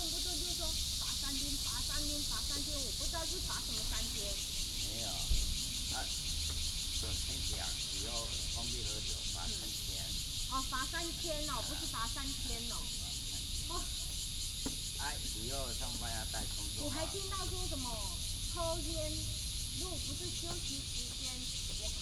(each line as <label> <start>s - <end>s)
Cicadas 0.0s - 22.0s
birds sound 0.0s - 22.0s
Traffic sound 5.5s - 9.2s